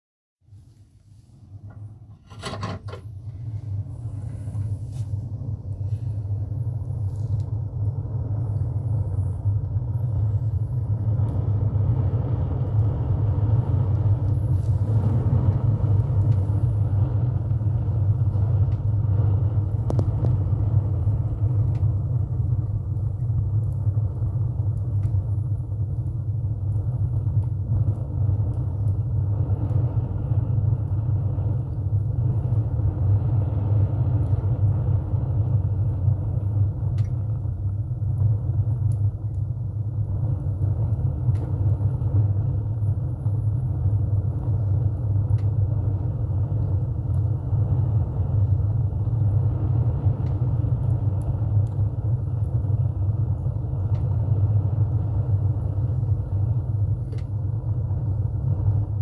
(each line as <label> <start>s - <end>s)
Opening up Woodburn door 2.1s - 3.1s
flame whoosh building 3.1s - 59.0s